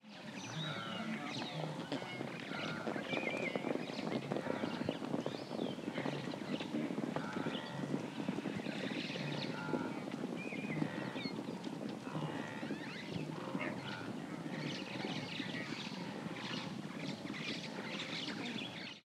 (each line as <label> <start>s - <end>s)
running wildebeests 0.0s - 19.0s